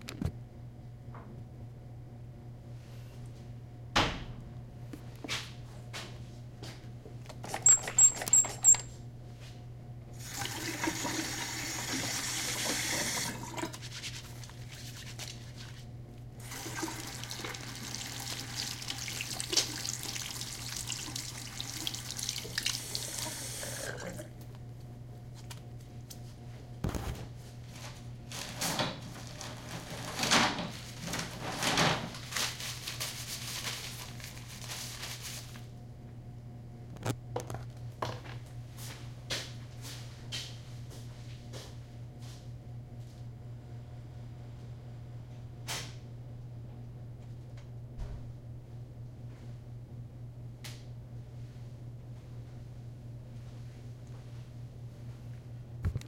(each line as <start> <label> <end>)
16.4 washing their hands 24.2